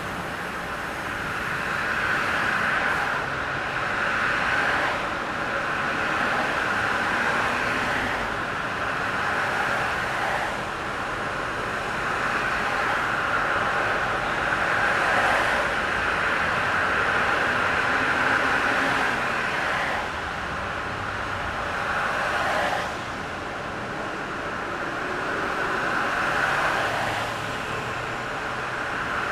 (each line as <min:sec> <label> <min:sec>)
0:00.0 Traffic 0:29.3